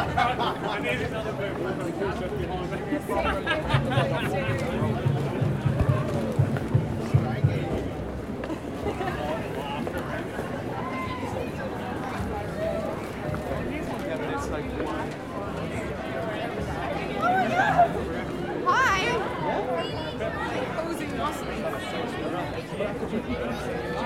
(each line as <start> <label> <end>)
0.0 buskers 24.0